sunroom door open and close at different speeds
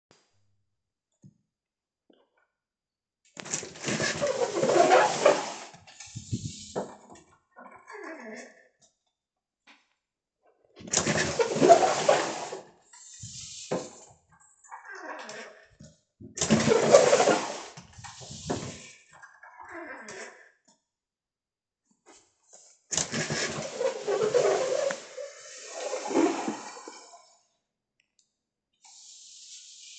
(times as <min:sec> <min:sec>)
0:03.4 0:07.0, 0:10.8 0:14.1, 0:16.4 0:18.9, 0:22.9 0:27.1